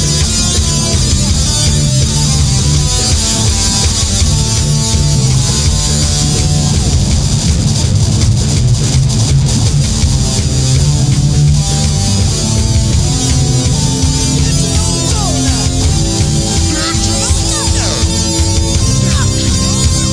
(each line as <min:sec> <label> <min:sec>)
0:00.0 Beats 0:20.1
0:00.0 Keyboards 0:20.1
0:00.0 guitar 0:20.1